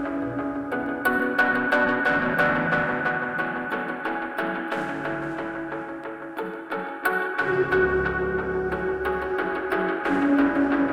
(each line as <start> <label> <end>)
0.0 Guitar Passage 10.9
0.0 Piano theme 10.9
0.0 synth 10.9